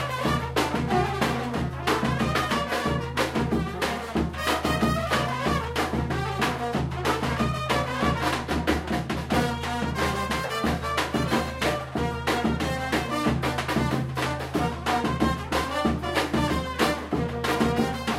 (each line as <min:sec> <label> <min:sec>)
0:00.0 brass 0:18.1